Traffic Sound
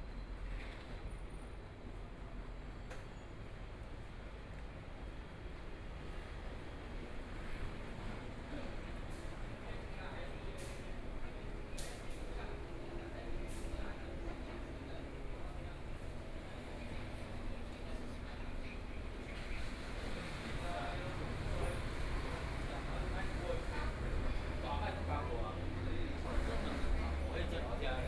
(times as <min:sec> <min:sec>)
0:19.3 0:28.0